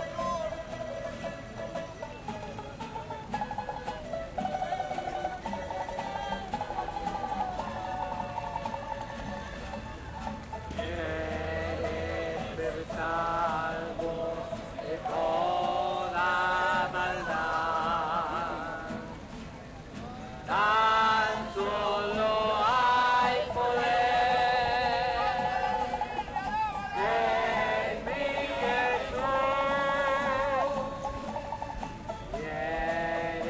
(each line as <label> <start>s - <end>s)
Gospel singers 5.4s - 10.0s
Gospel singers 10.7s - 19.3s
Gospel singers 20.4s - 33.4s